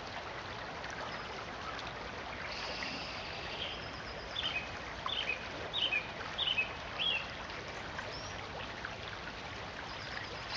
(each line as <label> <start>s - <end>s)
brook 0.0s - 10.5s